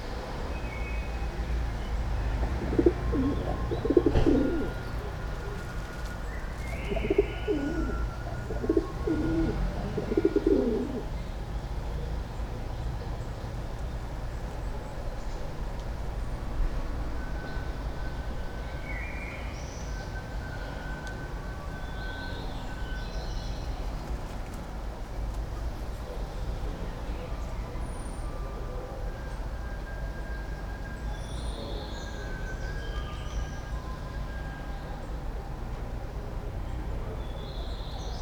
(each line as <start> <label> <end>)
2.5 pigeons 11.1